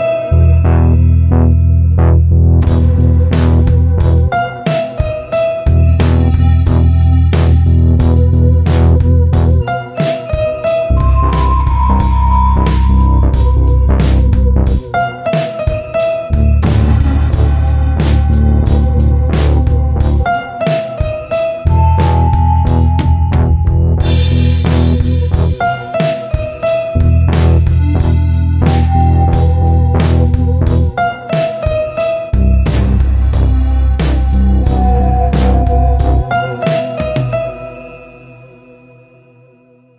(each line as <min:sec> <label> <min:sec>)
0:00.0 Music 0:39.9